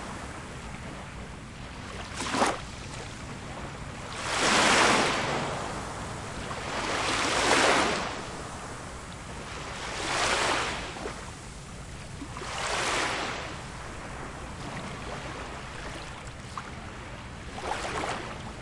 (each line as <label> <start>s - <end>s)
Gentle Waves Peeling Left To Right 0.0s - 18.6s